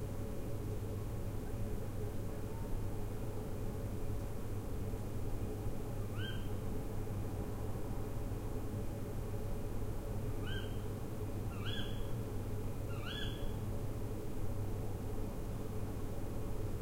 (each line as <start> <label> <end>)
6.1 Owl hoots 6.6
10.4 Owl hoots 10.8
11.5 Owl hoots 12.1
12.9 Owl hoots 13.5